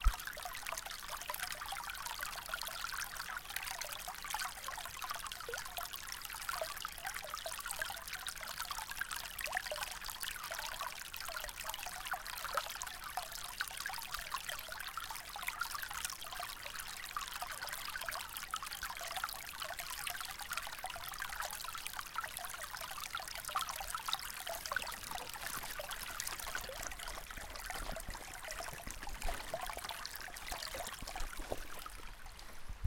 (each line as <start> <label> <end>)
22.8 small burn trickling 32.8